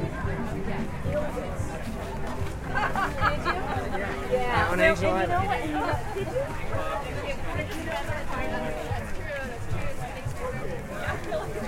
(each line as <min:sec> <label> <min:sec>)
0:00.0 background music 0:11.6
0:00.0 distinguishable conversations 0:11.6
0:00.0 lively voices 0:11.6